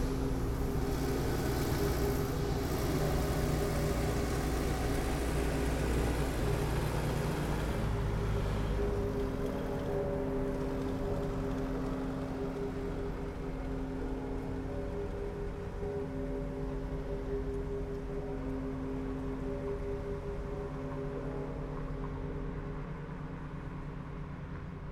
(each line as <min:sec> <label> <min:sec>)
0:00.0 cars passing by 0:24.7
0:00.0 Church bells 0:24.7